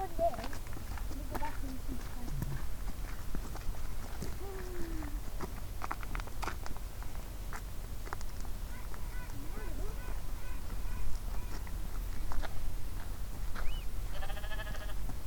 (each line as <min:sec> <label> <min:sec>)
0:00.0 tourists 0:15.2